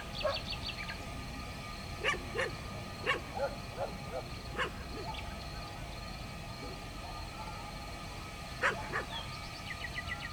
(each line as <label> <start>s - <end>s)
Night singing of nightingale 0.0s - 10.3s
barking dogs 0.2s - 0.4s
barking dogs 2.0s - 5.3s
barking dogs 8.6s - 9.3s